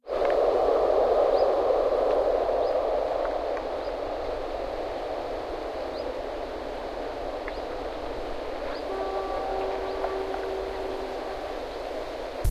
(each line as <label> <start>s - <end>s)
birdsong 5.8s - 6.6s
birdsong 7.5s - 7.8s
birdsong 8.6s - 12.2s